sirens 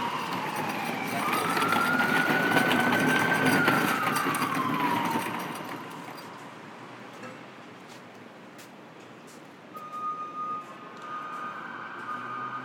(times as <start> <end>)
0.0 6.6, 9.7 12.6